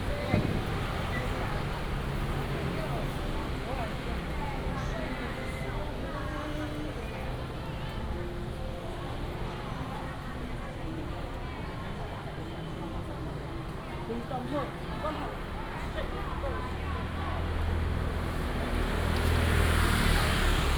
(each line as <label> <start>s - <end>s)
Traffic sound 12.6s - 20.7s